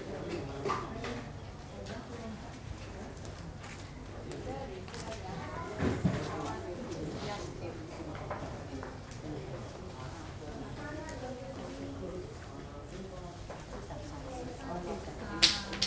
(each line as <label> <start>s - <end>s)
Kau Cim oracle sticks 15.4s - 15.8s